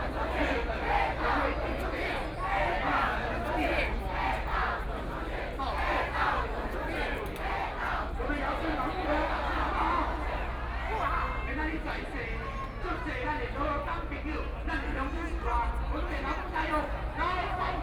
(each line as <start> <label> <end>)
0.0 group of people 17.8